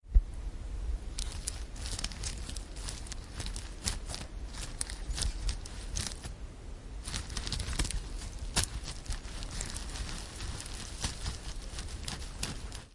manipulating a hat with electromagnetic sensors 0:01.1 - 0:06.4
manipulating a hat with electromagnetic sensors 0:07.0 - 0:12.9

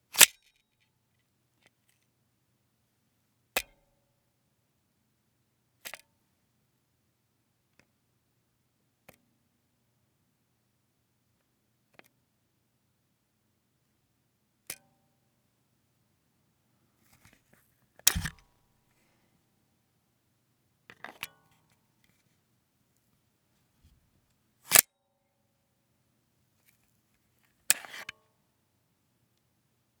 Insertion and removal of a Glock 17's magazine 0:00.2 - 0:00.4
Insertion and removal of a Glock 17's magazine 0:18.1 - 0:18.4
Insertion and removal of a Glock 17's magazine 0:27.7 - 0:28.1

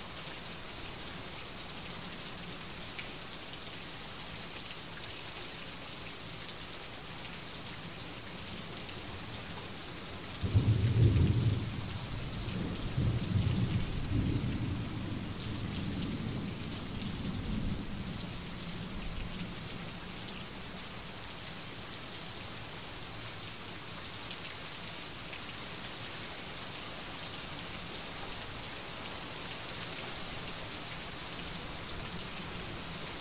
rain 0:00.0 - 0:33.2
thunder 0:10.5 - 0:16.5

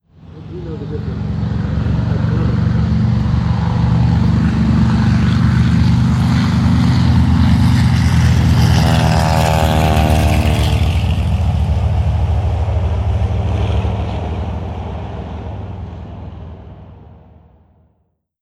Avenger plane passing by 0:00.1 - 0:17.9

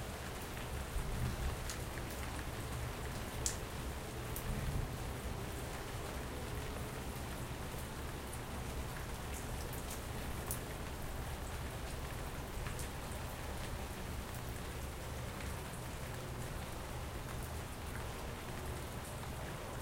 rain 0:00.0 - 0:19.8

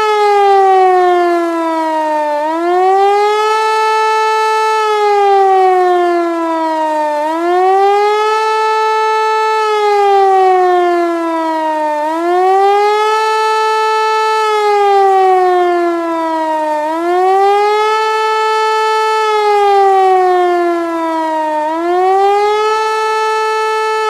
german electro/mechanical/pneumatical-siren 0:00.0 - 0:24.0

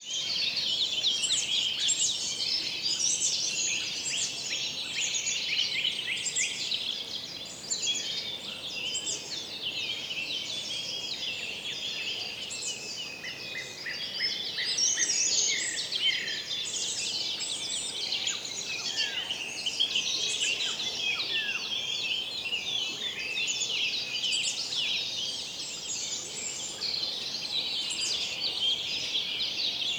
various birdsong 0:00.0 - 0:29.9

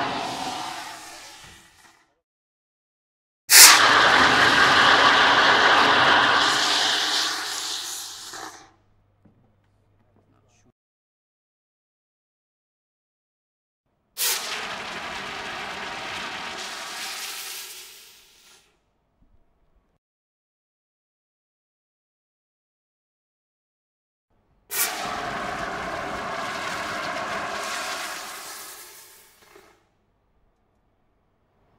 water gurgle from air release compressor dive tank 0:00.0 - 0:02.0
water gurgle from air release compressor dive tank 0:03.5 - 0:08.6
water gurgle from air release compressor dive tank 0:14.2 - 0:18.6
water gurgle from air release compressor dive tank 0:24.7 - 0:29.8

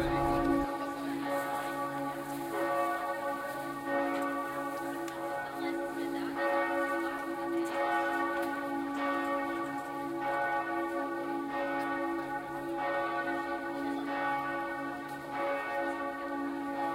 people walking by 0:00.0 - 0:16.9
churchbells 0:00.0 - 0:16.9

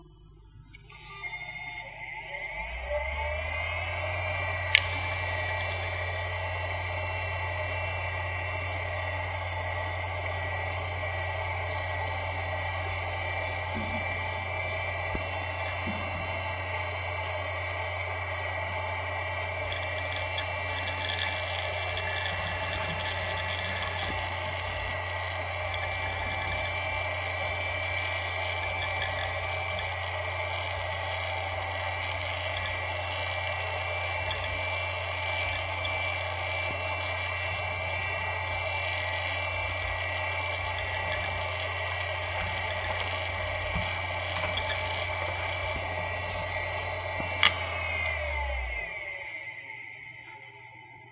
hard drive 0:00.0 - 0:50.8

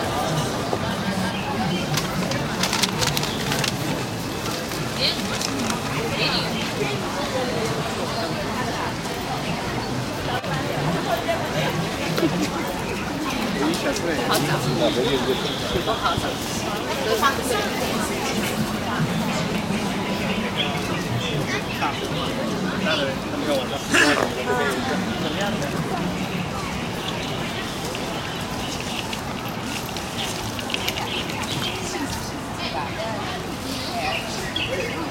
traffic 0:00.0 - 0:35.1

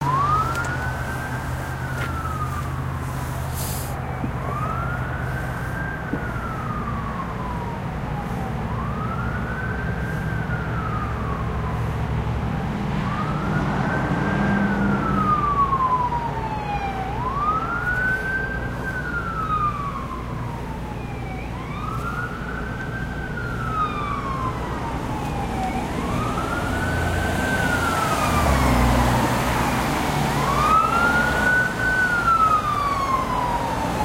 Ambulance Passing Wail And Yelp 0:00.0 - 0:34.0

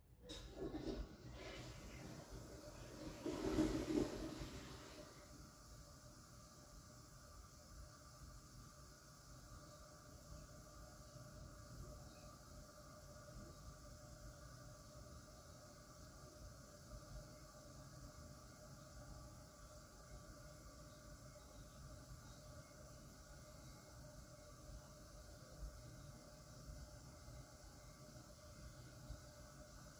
distant toilet flushing 0:00.2 - 0:07.2

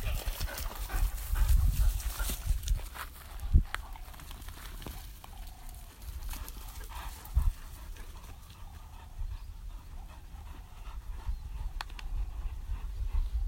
panting 0:00.0 - 0:02.5
birds 0:00.0 - 0:13.4
wind 0:00.0 - 0:13.4
panting 0:06.2 - 0:13.4

